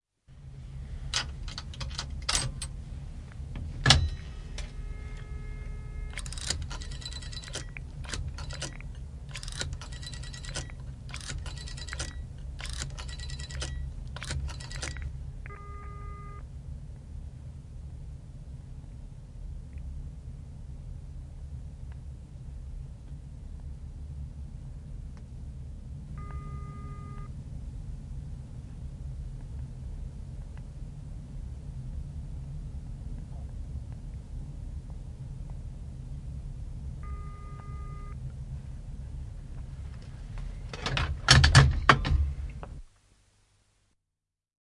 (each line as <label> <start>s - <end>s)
hang up 1.1s - 2.8s
hang up 3.5s - 5.3s
Receiver 3.9s - 16.4s
Dial 3.9s - 16.4s
Alarm 4.0s - 7.7s
coins into the slot 6.1s - 15.1s
Alarm 14.5s - 16.4s
Receiver 26.2s - 27.3s
Alarm 26.2s - 27.3s
Alarm 37.0s - 38.2s
Receiver 37.0s - 38.2s
hang up 40.7s - 42.4s